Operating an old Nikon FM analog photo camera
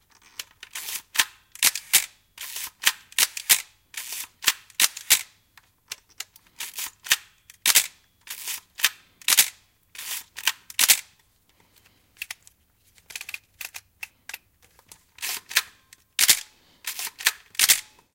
0.5 5.3, 15.2 18.1

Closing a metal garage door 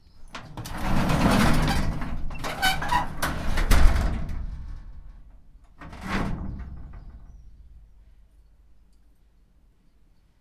0.2 8.0

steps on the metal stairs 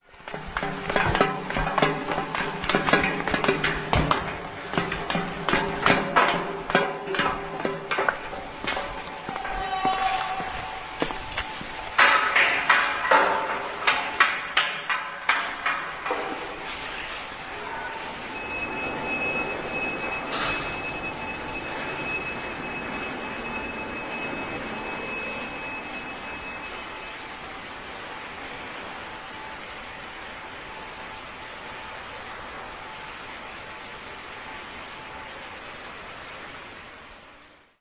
0.0 17.0

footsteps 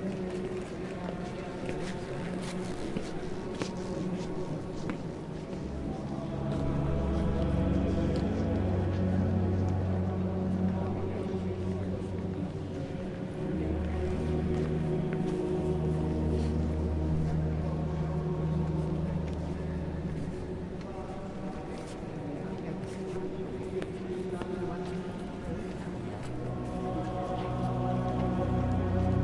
12.0 29.2

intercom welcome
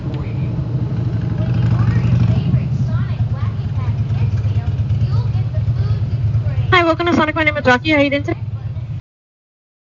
6.7 8.4

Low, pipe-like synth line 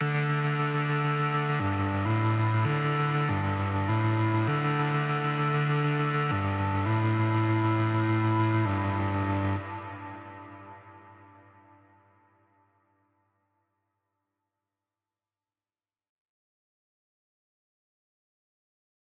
0.0 11.9

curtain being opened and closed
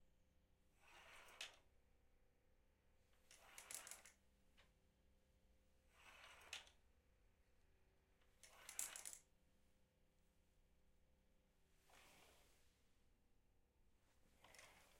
11.9 12.6, 14.4 14.9

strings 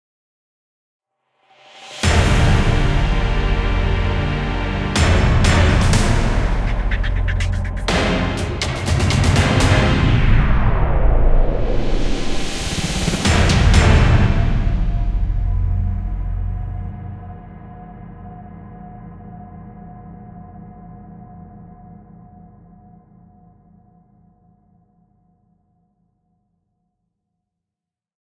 2.0 10.5

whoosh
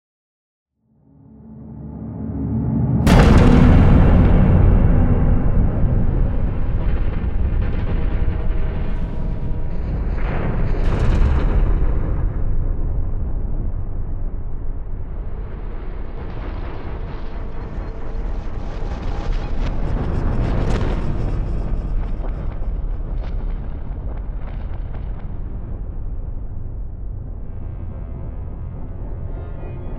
1.4 10.8

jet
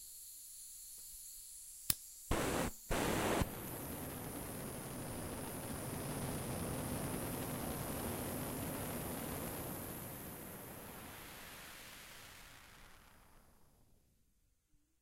2.3 14.0

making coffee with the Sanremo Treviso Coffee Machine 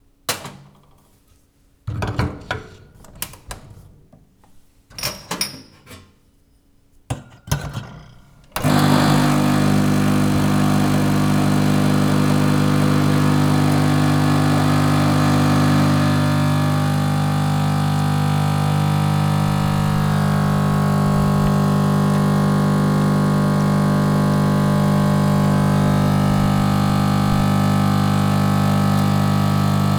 8.6 29.9

